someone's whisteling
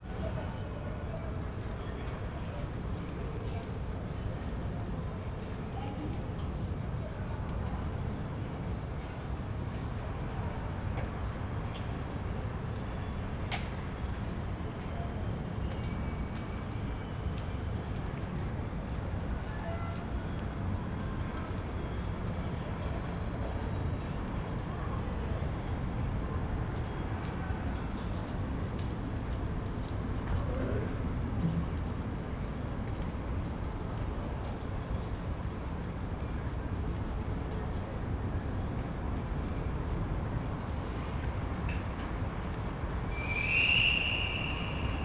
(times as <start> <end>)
43.1 45.0